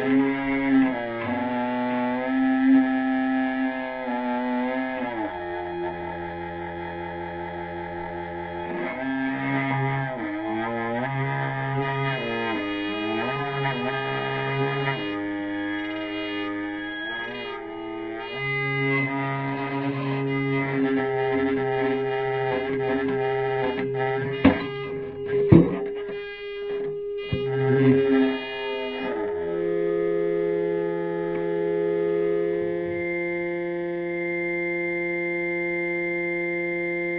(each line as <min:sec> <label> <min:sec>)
0:00.0 prepared guitar solo 0:37.1